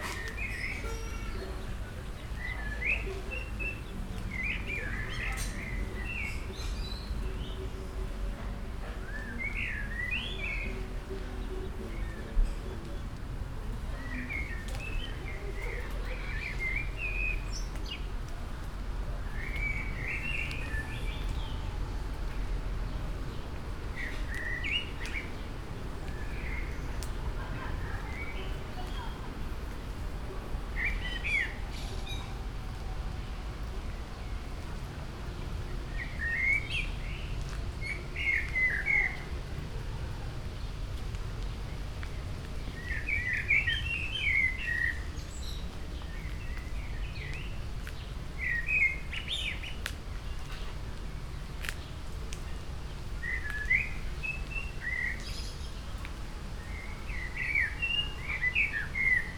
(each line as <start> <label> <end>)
12.6 short walk in a small patch of woods 59.3